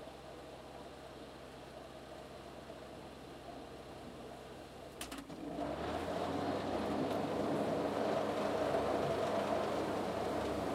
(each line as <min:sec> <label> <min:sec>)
0:00.0 engine at steady rate 0:10.7
0:00.0 water 0:10.7